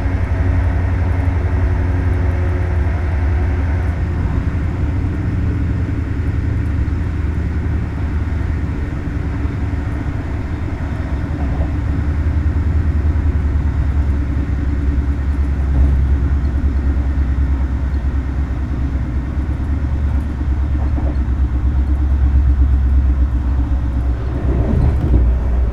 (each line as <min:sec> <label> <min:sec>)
0:00.0 Regional train arriving and departing 0:25.7